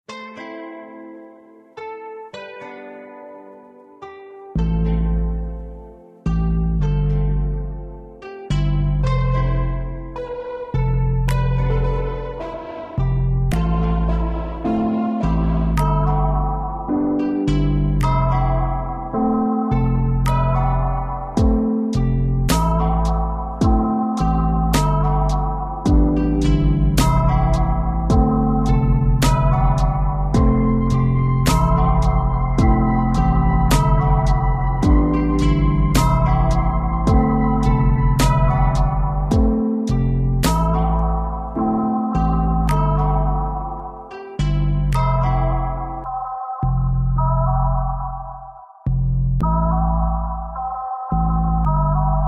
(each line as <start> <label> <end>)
21.4 drum 21.6
23.6 drum 23.9
25.9 drum 26.1
28.1 drum 28.3
30.4 drum 30.6
32.6 drum 32.9
37.1 drum 37.3
39.3 drum 39.6